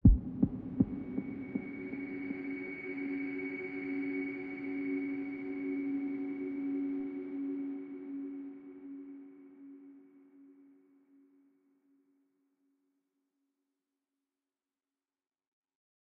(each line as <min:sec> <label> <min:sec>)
0:00.0 Deep kick 0:01.6